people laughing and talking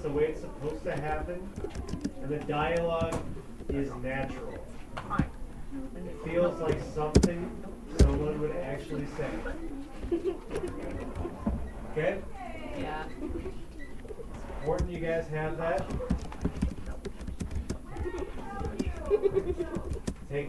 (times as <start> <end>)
5.4 16.3, 17.8 20.4